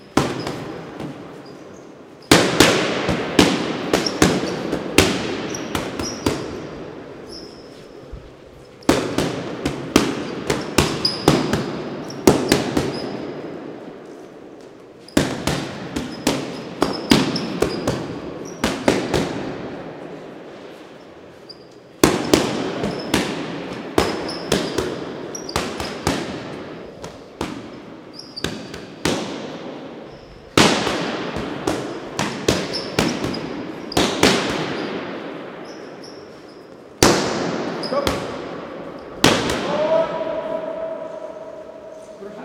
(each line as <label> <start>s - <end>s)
boxer hits punching bag 0.0s - 1.2s
boxer hits punching bag 2.2s - 6.7s
boxer hits punching bag 8.8s - 13.4s
boxer hits punching bag 15.1s - 19.8s
boxer hits punching bag 22.0s - 27.8s
boxer hits punching bag 28.4s - 29.8s
boxer hits punching bag 30.4s - 35.1s
boxer hits punching bag 37.0s - 38.5s
boxer hits punching bag 39.2s - 39.9s